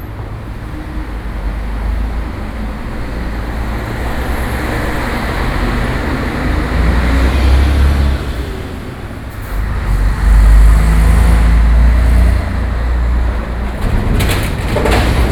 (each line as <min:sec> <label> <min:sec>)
0:00.0 Traffic noise 0:15.3